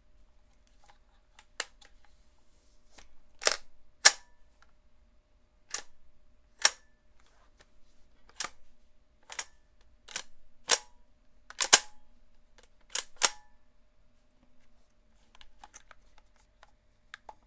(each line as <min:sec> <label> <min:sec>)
0:03.0 Handling and reloading a Lancer Tactical LT-15 airsoft gun 0:04.2
0:07.6 Handling and reloading a Lancer Tactical LT-15 airsoft gun 0:08.6
0:12.6 Handling and reloading a Lancer Tactical LT-15 airsoft gun 0:13.4
0:15.3 Handling and reloading a Lancer Tactical LT-15 airsoft gun 0:17.4